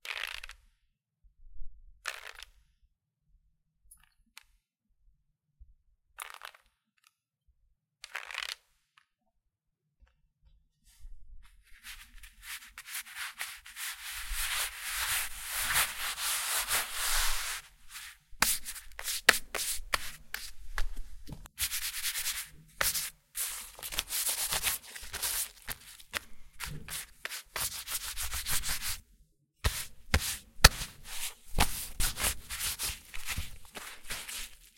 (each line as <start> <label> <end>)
11.8 wiping wet paper 29.0
29.6 wiping wet paper 34.7